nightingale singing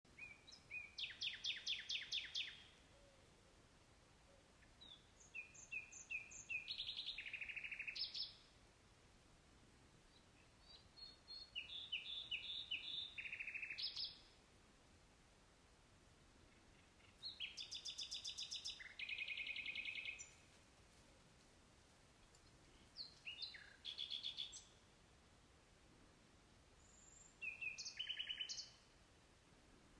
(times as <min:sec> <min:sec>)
0:00.1 0:03.4, 0:04.2 0:08.5, 0:10.1 0:14.4, 0:16.5 0:21.2, 0:22.3 0:24.9, 0:26.8 0:29.0